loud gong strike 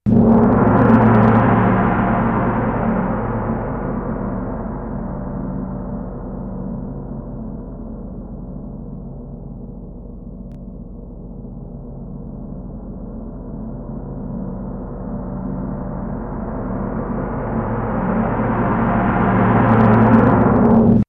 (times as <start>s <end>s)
0.1s 5.7s, 15.1s 21.0s